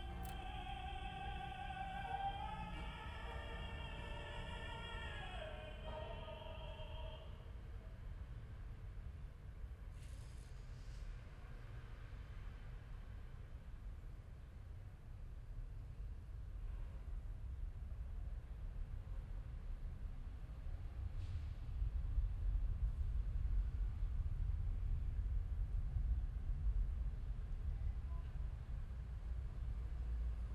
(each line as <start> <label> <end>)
0.0 Someone singing opera 7.5
0.0 street traffic 30.5